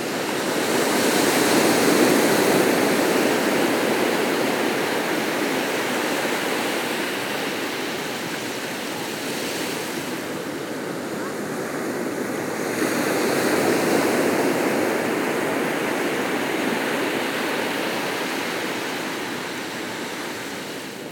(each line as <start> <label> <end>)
0.0 The sea 21.1